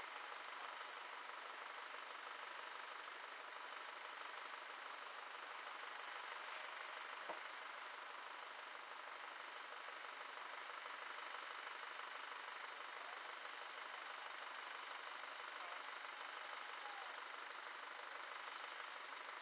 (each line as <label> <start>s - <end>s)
native cicadas 0.0s - 19.4s